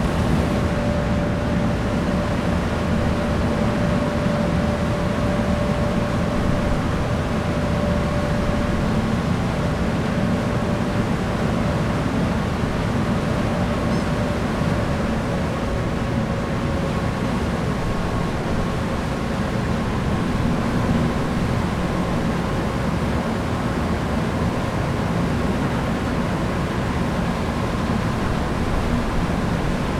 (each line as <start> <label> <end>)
0.0 Ferry Stern Engines 22.0
0.0 wind 29.9